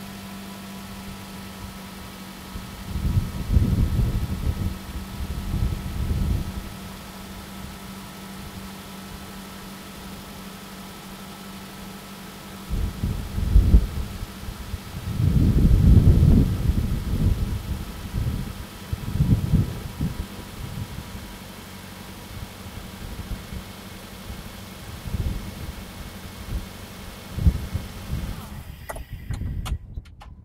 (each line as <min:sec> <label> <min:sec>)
0:00.0 Car Starting and idle 0:30.4
0:02.4 wind blowing 0:08.7
0:12.7 wind blowing 0:21.6
0:22.2 wind blowing 0:30.4